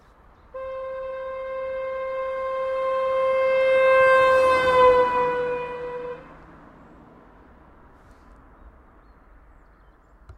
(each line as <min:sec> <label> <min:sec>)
0:00.0 passing car 0:10.3
0:00.5 Horn Doppler 01 0:06.5